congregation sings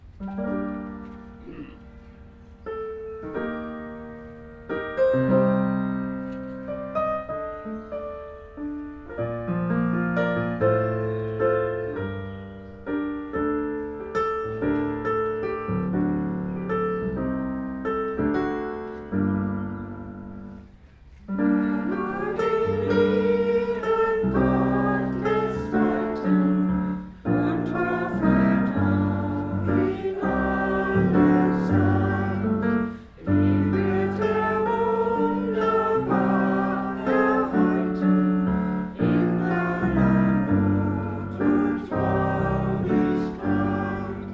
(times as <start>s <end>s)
21.2s 44.3s